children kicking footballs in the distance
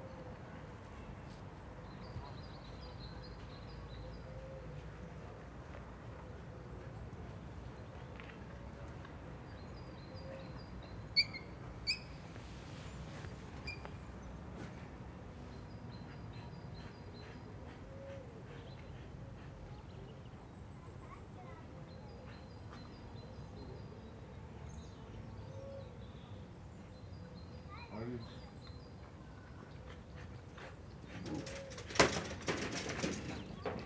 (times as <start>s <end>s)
31.1s 33.8s